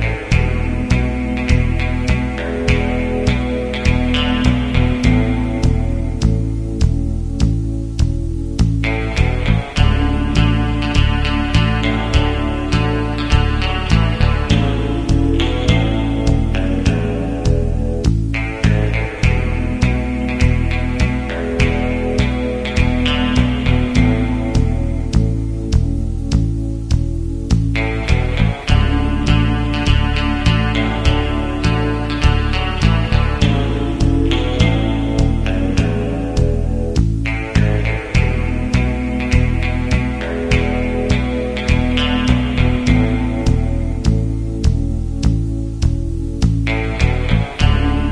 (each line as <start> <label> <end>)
0.0 Country Music 48.1